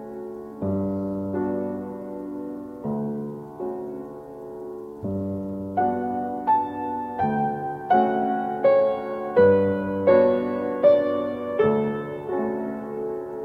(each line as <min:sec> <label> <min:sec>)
0:00.0 playing the piano 0:13.4